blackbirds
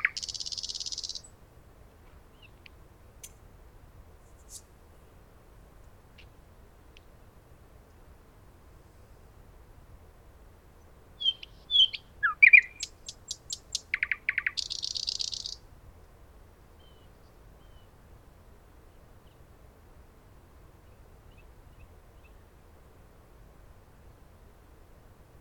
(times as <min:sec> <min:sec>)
0:00.0 0:01.3, 0:11.2 0:15.6